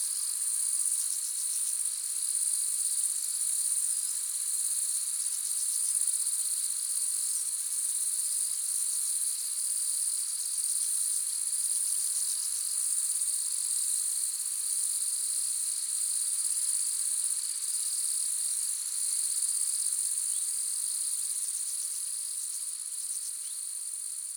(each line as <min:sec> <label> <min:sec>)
0:00.0 crickets 0:24.3